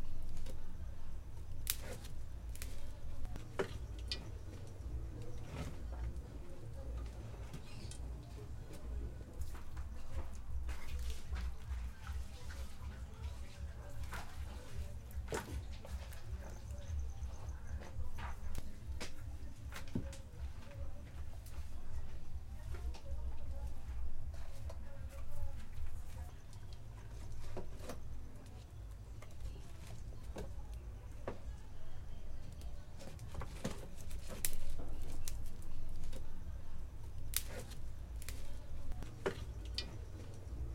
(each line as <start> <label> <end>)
0.0 logs in a stove 40.7
0.0 woman cooking 40.7
13.0 crickets 40.7
37.2 fire sparks 38.5